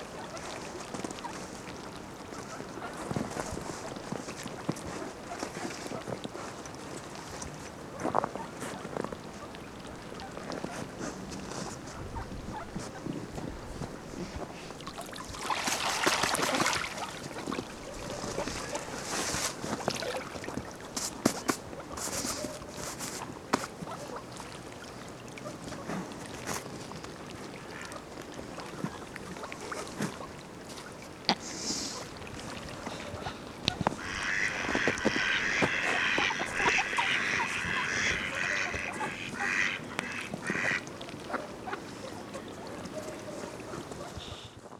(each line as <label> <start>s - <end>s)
ducks 0.1s - 6.6s
ducks 7.2s - 13.5s
ducks 15.4s - 24.5s
ducks 25.4s - 44.7s